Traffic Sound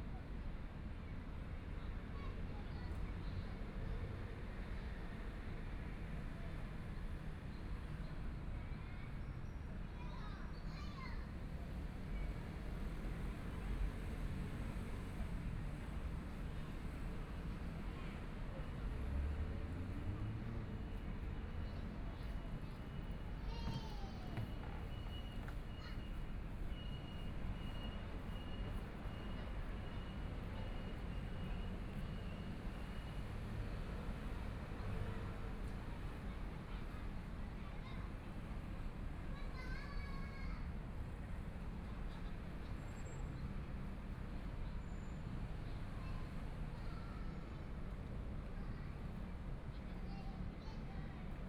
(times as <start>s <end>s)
11.7s 51.4s